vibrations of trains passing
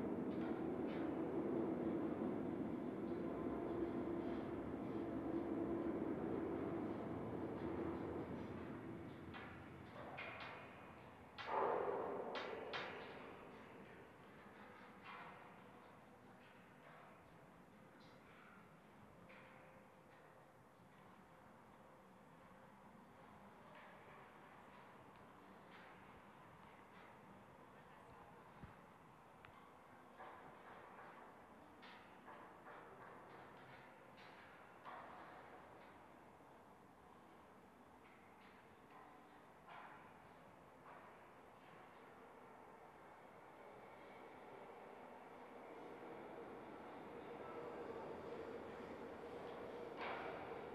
0.0 10.4, 42.1 50.7

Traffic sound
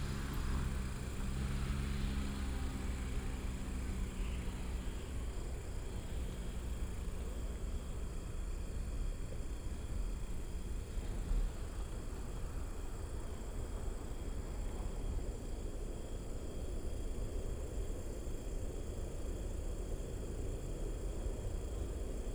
0.0 8.8

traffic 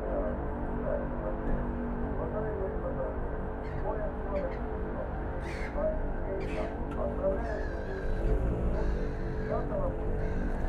3.1 10.6

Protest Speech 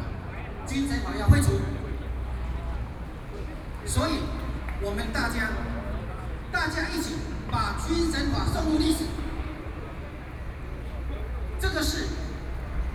11.0 12.5

